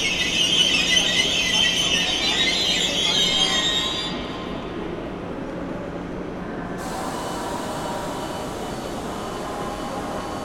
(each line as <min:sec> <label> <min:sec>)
0:00.0 doors of the train are beeping 0:05.0
0:00.0 train is leaving 0:10.4